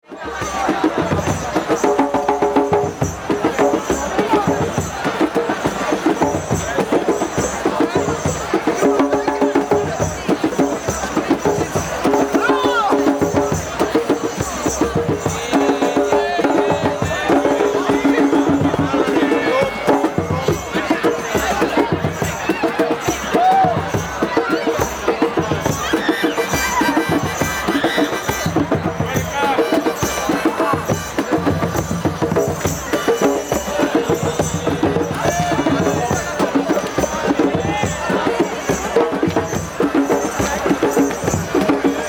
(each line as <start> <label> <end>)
0.0 drums 42.0